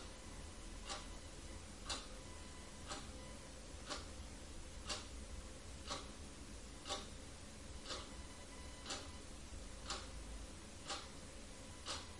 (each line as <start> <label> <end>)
0.8 load clock is ticking 4.2
4.8 load clock is ticking 6.2
6.8 load clock is ticking 7.2
7.8 load clock is ticking 9.2
9.8 load clock is ticking 10.2
10.8 load clock is ticking 12.1